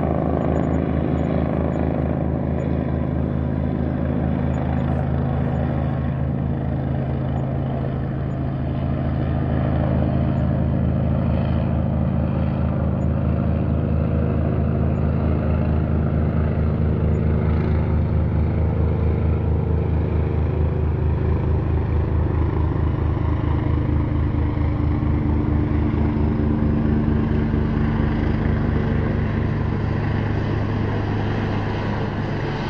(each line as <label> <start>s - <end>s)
Police Helicopter 0.0s - 32.6s